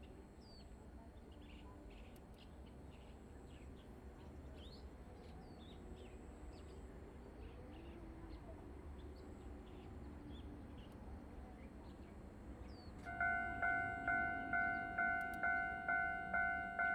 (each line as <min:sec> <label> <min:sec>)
0:12.3 Train traveling through 0:16.9